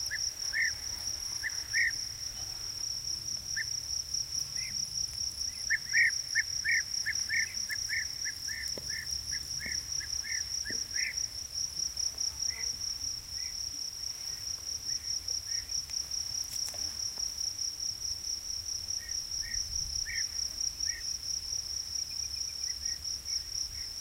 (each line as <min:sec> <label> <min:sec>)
0:00.0 crickets singing 0:24.0
0:00.0 bee-eaters 0:02.8